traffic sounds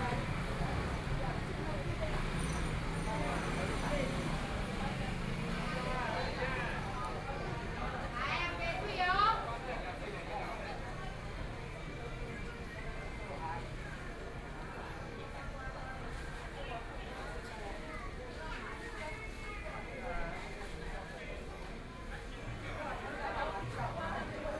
0:00.0 0:18.4

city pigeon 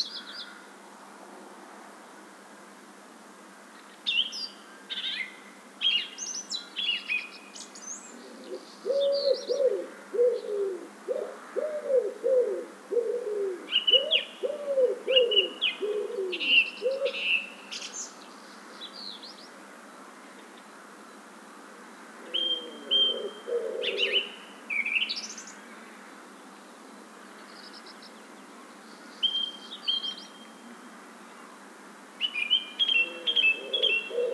0:08.1 0:18.0, 0:22.2 0:25.0, 0:32.8 0:34.3

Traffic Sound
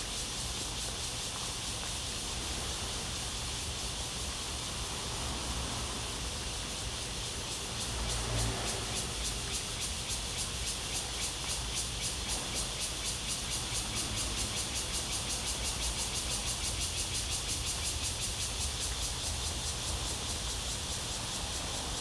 0:04.5 0:22.0

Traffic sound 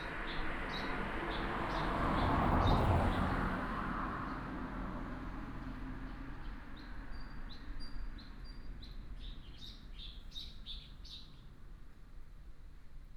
0:00.0 0:06.5

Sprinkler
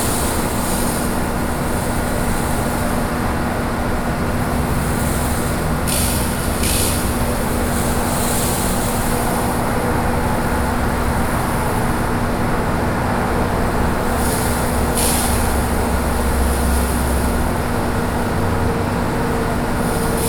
0:04.7 0:10.5, 0:14.0 0:18.2, 0:19.8 0:20.2

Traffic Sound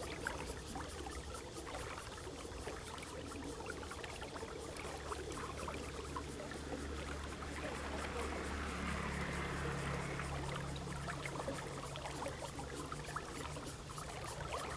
0:07.8 0:12.5

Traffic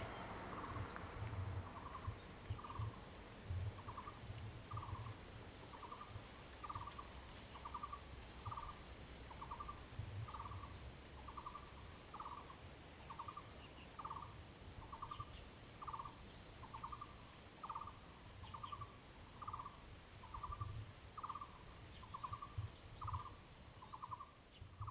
0:00.0 0:01.9

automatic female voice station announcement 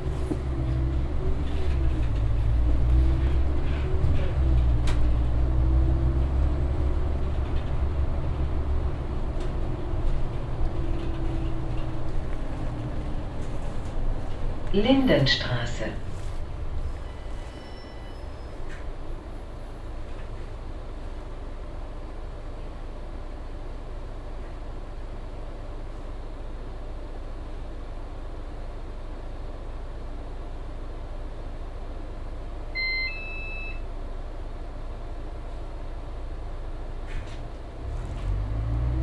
0:14.6 0:16.5

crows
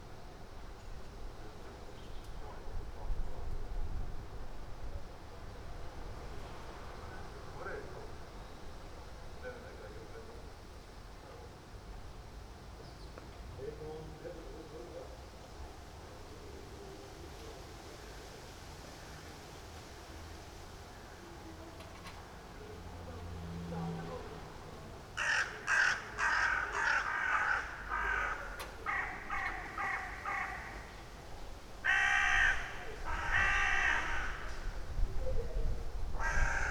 0:25.2 0:31.2, 0:31.8 0:34.8, 0:36.2 0:36.7

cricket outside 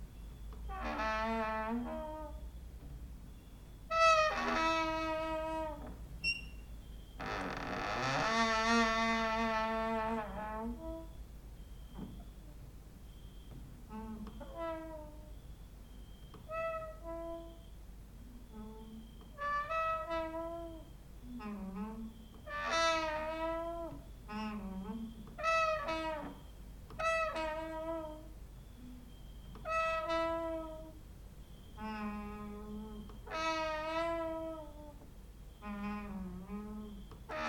0:13.0 0:37.4

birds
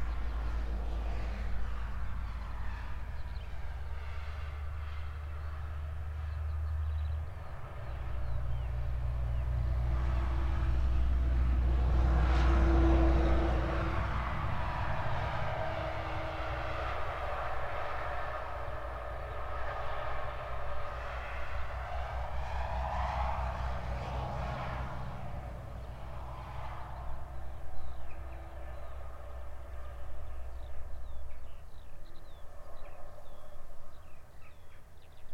0:26.7 0:35.3

